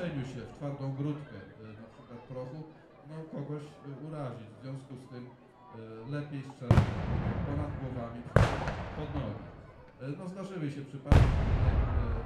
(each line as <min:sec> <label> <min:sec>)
0:06.7 Battle 0:10.0
0:11.1 Battle 0:12.2